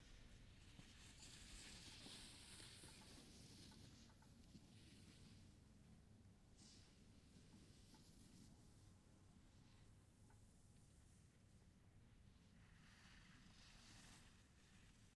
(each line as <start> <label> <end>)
0.0 skier 5.5
12.5 skier 15.1